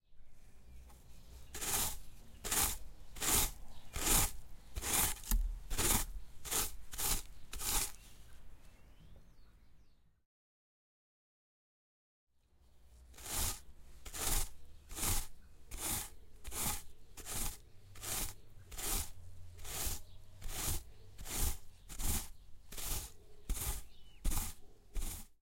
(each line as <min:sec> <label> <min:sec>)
0:00.9 working with a rake 0:08.4
0:12.8 working with a rake 0:25.4